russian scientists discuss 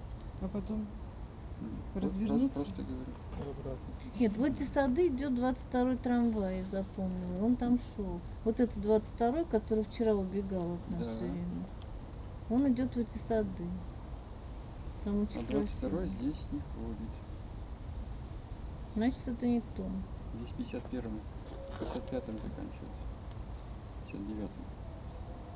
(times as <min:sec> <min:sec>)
0:01.6 0:11.7, 0:12.5 0:13.8, 0:15.0 0:17.3, 0:19.0 0:23.0, 0:24.0 0:24.7